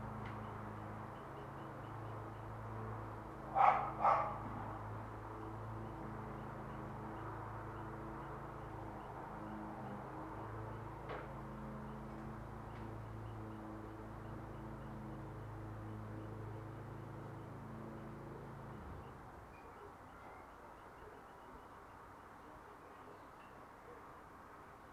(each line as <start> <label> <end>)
0.0 busy Galway-Headford road 24.9
3.5 Dogs barking 4.6